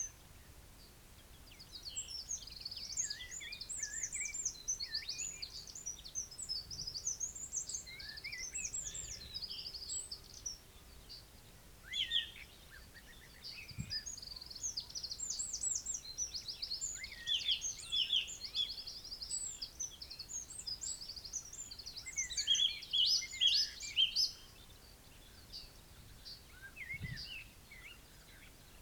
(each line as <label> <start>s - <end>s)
blackbird 1.4s - 28.8s